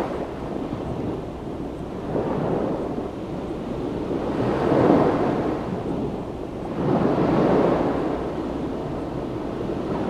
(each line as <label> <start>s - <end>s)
Waves rolling onto beach 0.0s - 10.0s